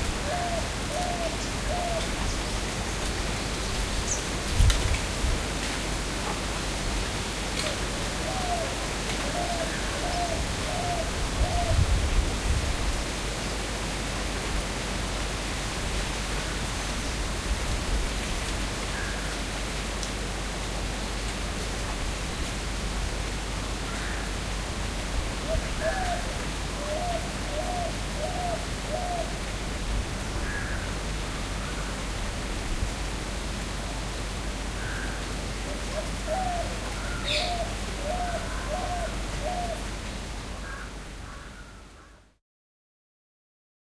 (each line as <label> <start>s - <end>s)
gentle breeze 0.0s - 42.4s